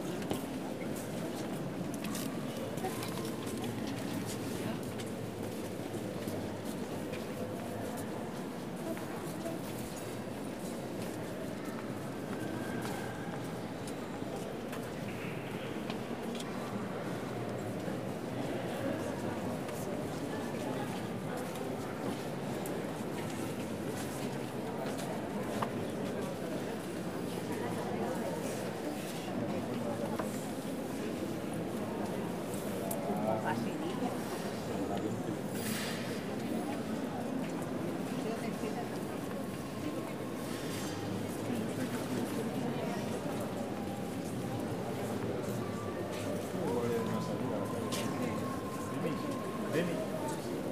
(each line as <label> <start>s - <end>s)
crowd of visitors 0.0s - 50.7s